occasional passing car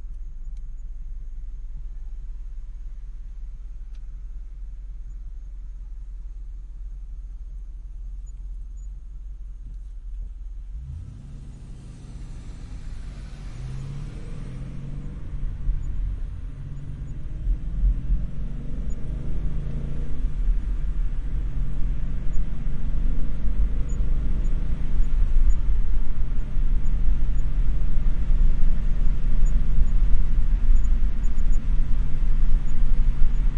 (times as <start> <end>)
10.7 27.8